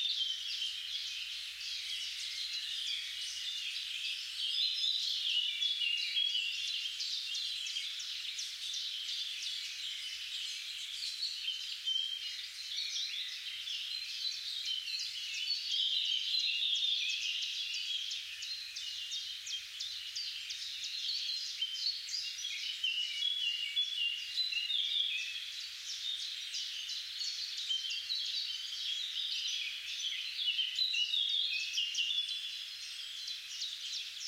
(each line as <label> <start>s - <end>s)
Singing birds 0.0s - 34.2s